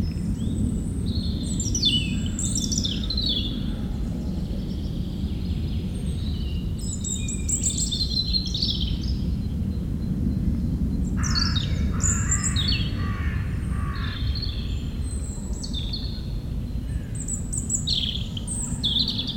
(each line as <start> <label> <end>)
0.2 planes takeoffs 19.3
0.3 European Robin singing 3.8
4.4 European Robin singing 9.6
11.2 European Robin singing 19.3